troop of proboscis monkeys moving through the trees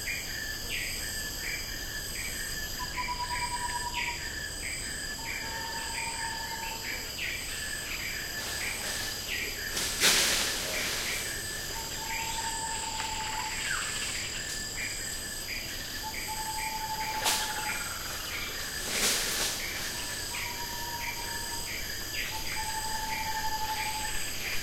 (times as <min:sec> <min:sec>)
0:05.6 0:24.6